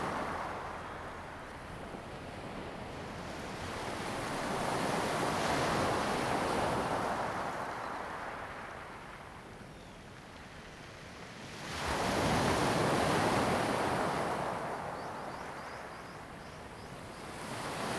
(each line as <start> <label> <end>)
0.0 waves 17.9